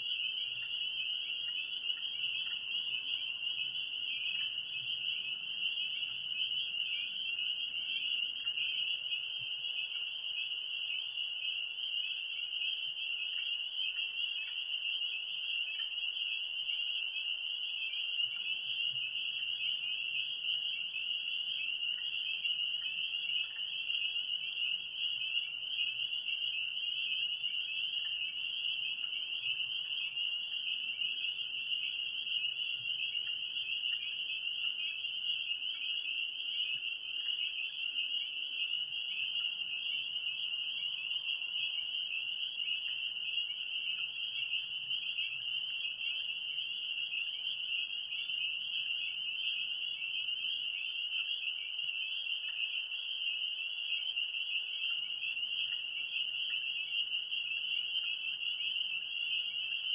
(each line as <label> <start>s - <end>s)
other frogs 0.0s - 59.9s
spring peepers 0.0s - 59.9s